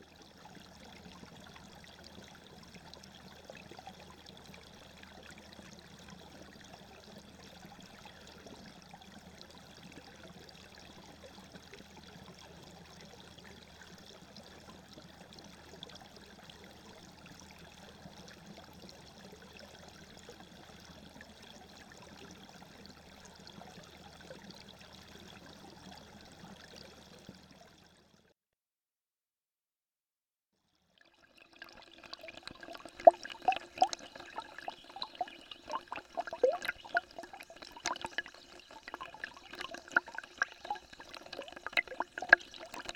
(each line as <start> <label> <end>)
31.0 water drains in the basin 42.9